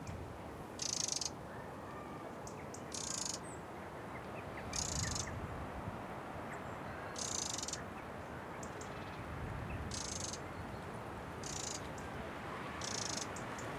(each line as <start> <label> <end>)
0.0 wind 13.7
1.5 children 2.5